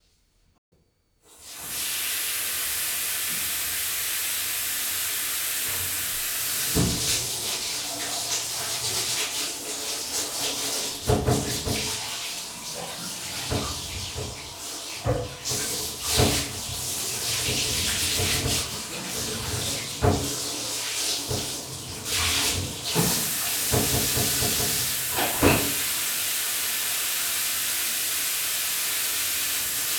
filling a bathtub with water 1.3 - 29.9
dripping 21.2 - 29.9
splash 22.1 - 29.9

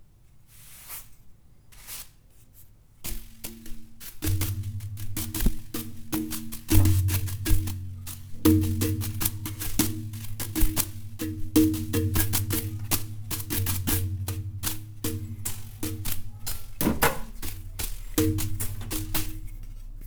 paint brush drum beat 3.0 - 20.0

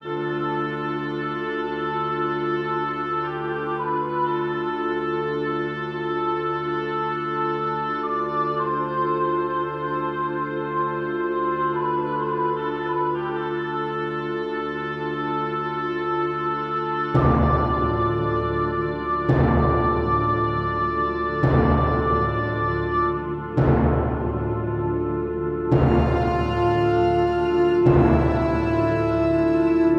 bagpipes 0.0 - 29.9
music 0.0 - 29.9

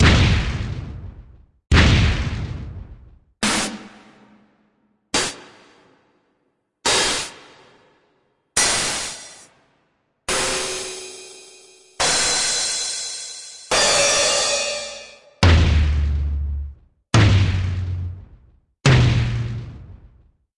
Kick drum 0.0 - 3.3
snare 0.0 - 20.3
Kick drum 15.4 - 20.4

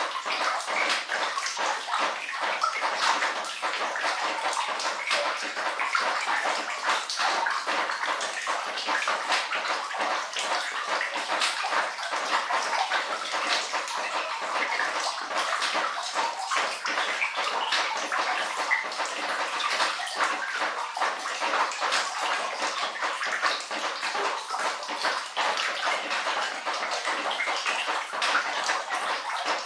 dripping water from the cellars roof falling into a flooded floor 0.0 - 29.6

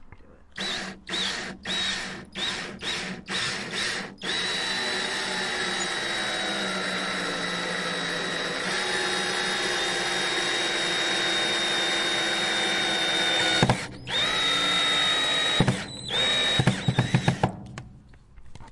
drilling a screw into wood 0.6 - 17.6

